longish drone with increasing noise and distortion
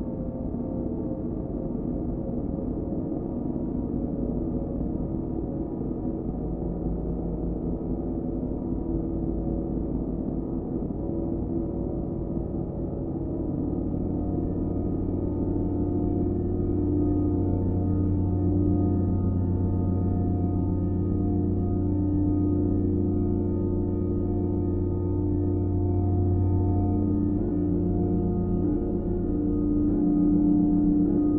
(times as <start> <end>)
12.9 31.3